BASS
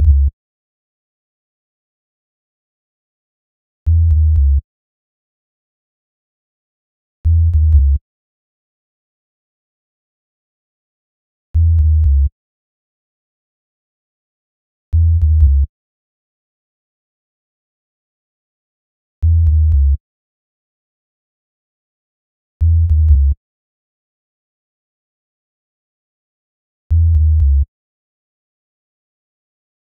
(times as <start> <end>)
0.0 0.4, 3.9 4.6, 7.2 8.0, 11.6 12.3, 14.9 15.7, 19.2 20.0, 22.6 23.4, 26.9 27.7